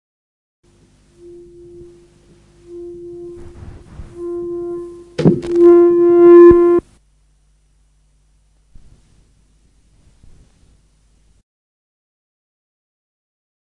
feedback 0:00.7 - 0:06.9

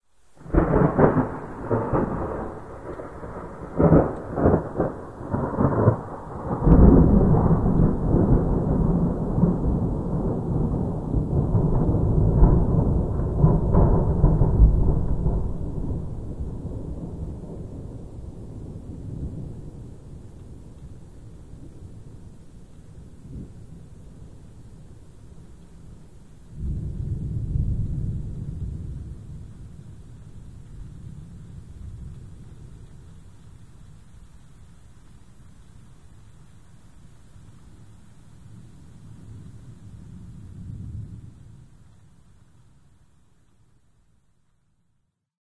thunder 0:00.4 - 0:22.3
thunder 0:23.0 - 0:34.0
thunder 0:38.5 - 0:41.9

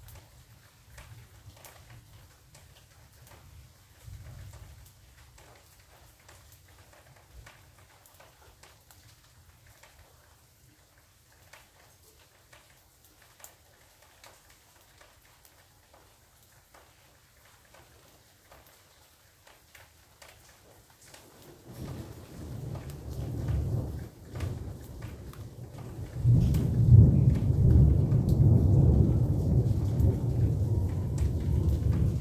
Soft Rain 0:00.0 - 0:32.2
rolling thunder 0:21.5 - 0:32.2

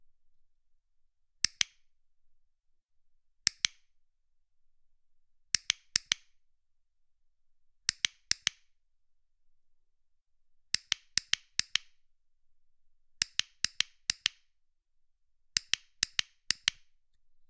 small hand held metal and plastic clicker 0:01.4 - 0:01.9
small hand held metal and plastic clicker 0:03.4 - 0:04.0
small hand held metal and plastic clicker 0:05.5 - 0:06.4
small hand held metal and plastic clicker 0:07.8 - 0:08.8
small hand held metal and plastic clicker 0:10.7 - 0:12.0
small hand held metal and plastic clicker 0:13.2 - 0:14.5
small hand held metal and plastic clicker 0:15.5 - 0:17.3

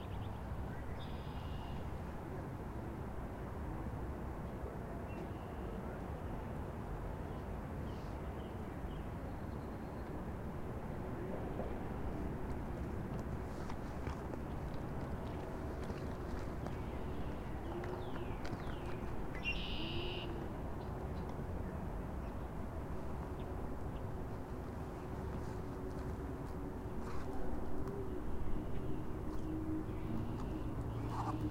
Various birdcalls and bird song 0:00.0 - 0:01.9
Various birdcalls and bird song 0:13.6 - 0:24.1
Various birdcalls and bird song 0:27.0 - 0:31.5

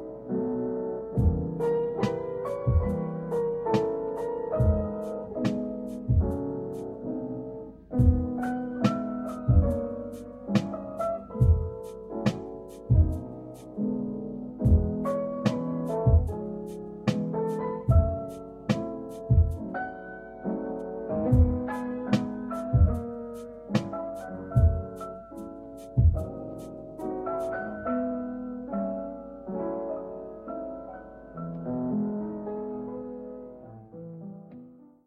jazz hop 0:01.2 - 0:07.1
jazz hop 0:07.8 - 0:27.7

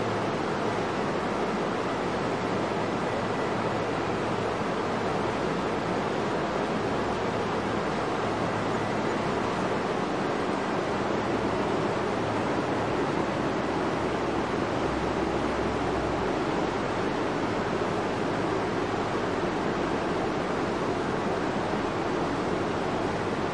roaring waterfall 0:00.0 - 0:23.5

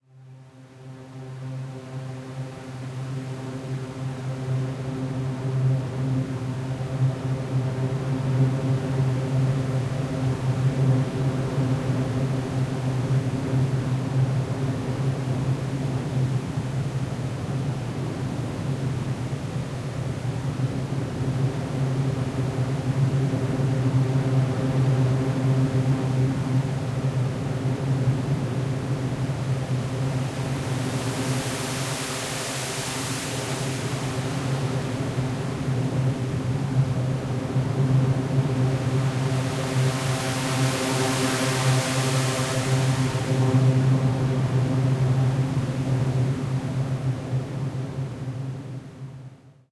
Fizzzy C drone 0:29.4 - 0:48.6

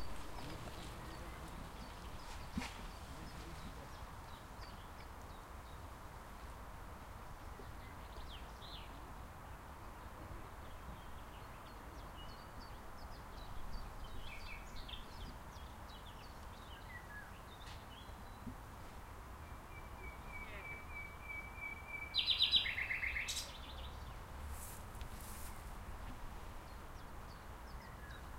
nightingale 0:19.4 - 0:24.2

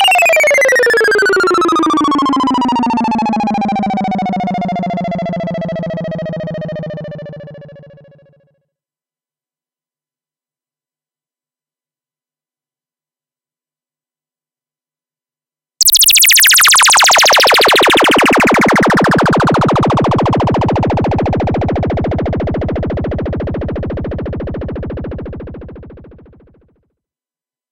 bleeps and sweeps 0:15.8 - 0:23.4

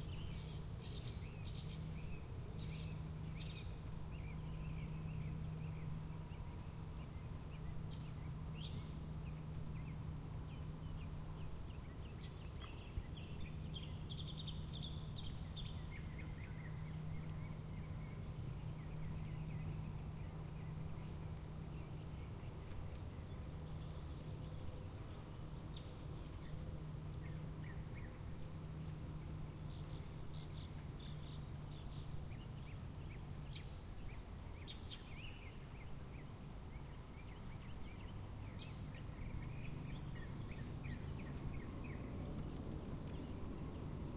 birds 0:00.0 - 0:44.1

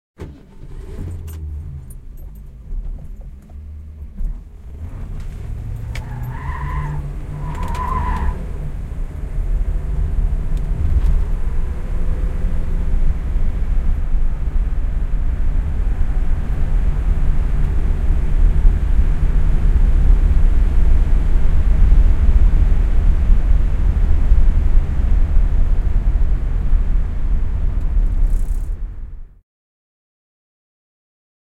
Ford Mustan pulling away on asphalt 0:00.2 - 0:23.2
tyres screeching 0:04.7 - 0:08.7

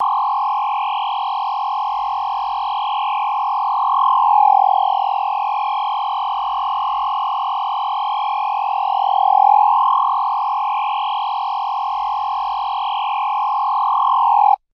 One tone laser beam 0:00.0 - 0:14.6

